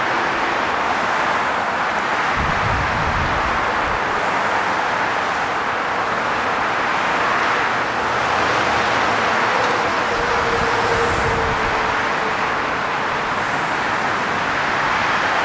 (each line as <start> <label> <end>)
0.0 traffic 15.4